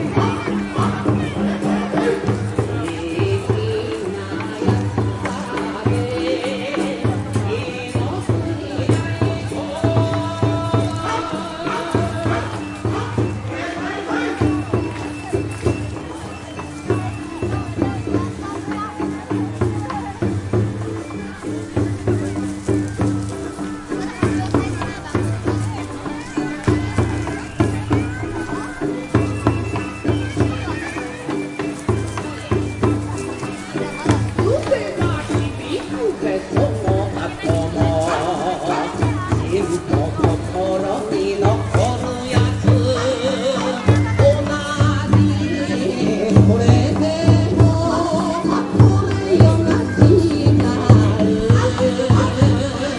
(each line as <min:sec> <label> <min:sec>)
0:00.0 Japanese vocal dance music 0:52.9
0:00.0 live taiko drums 0:52.9
0:00.0 people talking 0:52.9
0:00.0 walking on gravel, pebble type surface 0:47.2